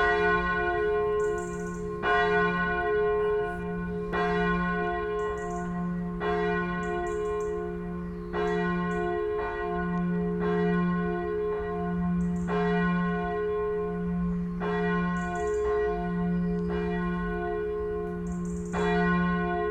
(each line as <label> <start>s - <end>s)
church bells 0.0s - 19.7s